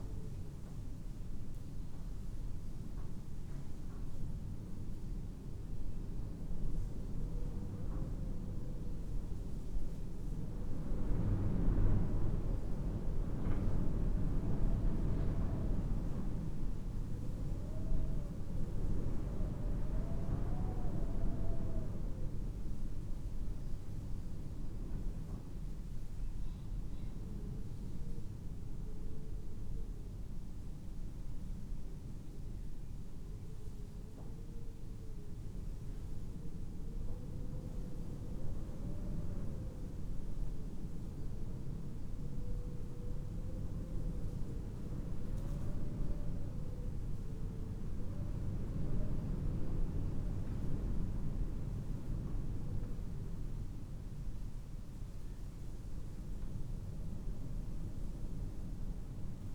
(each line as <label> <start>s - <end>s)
wind at the altar 0.0s - 59.5s